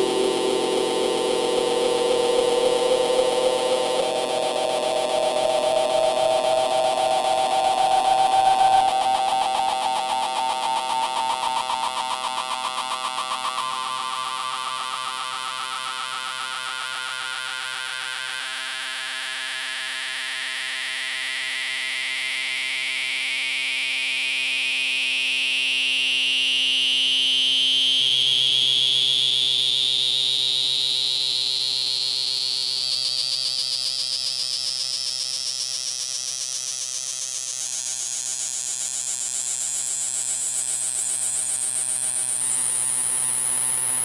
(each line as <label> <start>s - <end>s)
very slow filter sweep 0.0s - 10.8s